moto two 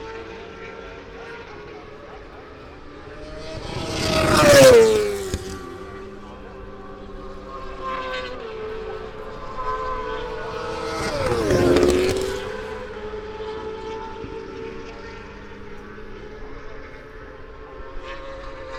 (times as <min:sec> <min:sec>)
0:02.5 0:08.6, 0:09.6 0:16.4